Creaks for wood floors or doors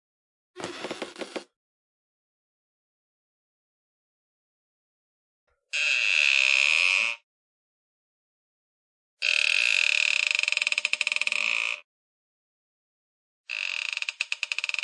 0.6s 1.5s, 5.7s 7.2s, 9.2s 11.8s, 13.5s 14.8s

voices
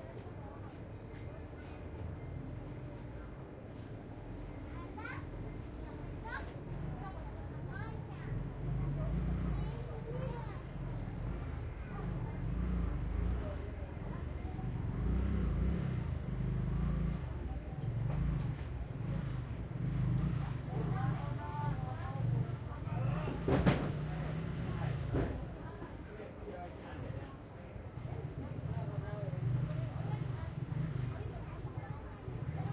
17.0s 32.7s

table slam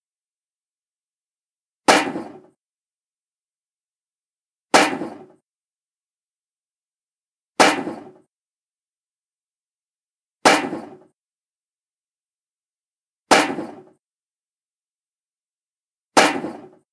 1.9s 2.6s, 4.8s 5.4s, 7.6s 8.3s, 10.5s 11.1s, 13.3s 13.9s, 16.2s 16.8s

